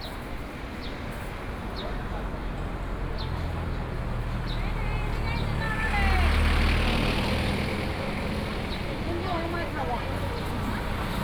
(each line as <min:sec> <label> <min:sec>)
0:02.6 Traffic Sound 0:11.2